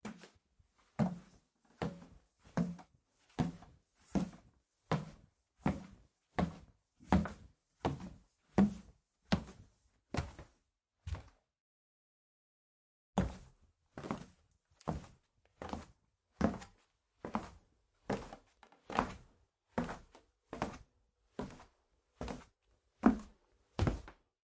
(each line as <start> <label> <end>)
23.0 steps on the wooden staircase 24.2